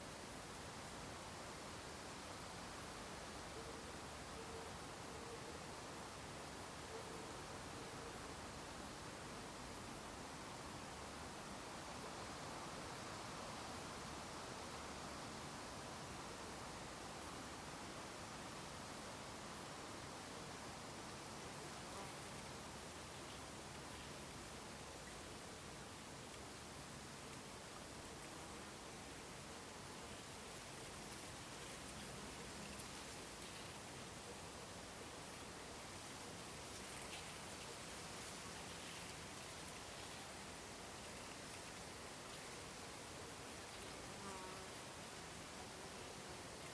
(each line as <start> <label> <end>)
0.0 quiet lake 46.7